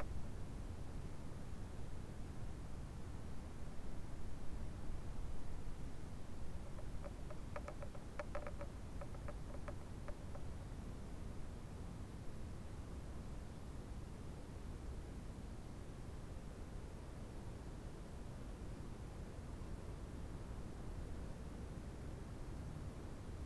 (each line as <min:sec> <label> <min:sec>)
0:06.6 fence rattling in the wind 0:10.6